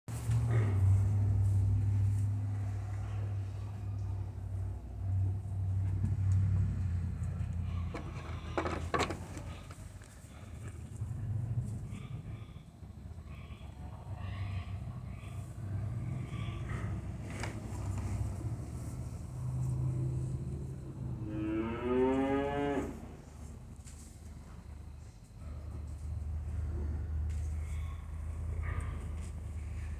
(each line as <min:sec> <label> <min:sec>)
0:00.2 Cow 0:23.6
0:00.3 Goat 0:20.3
0:06.3 Pig 0:20.8
0:25.4 Pig 0:29.9